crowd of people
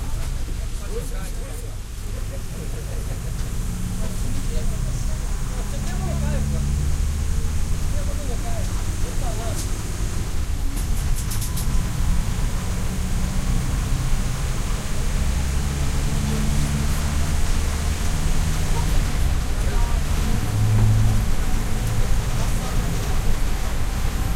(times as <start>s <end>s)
0.0s 11.9s